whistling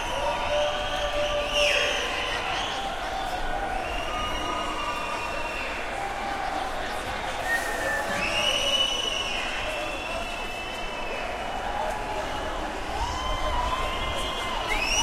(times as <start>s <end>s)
3.8s 5.7s, 7.4s 11.3s, 13.9s 15.0s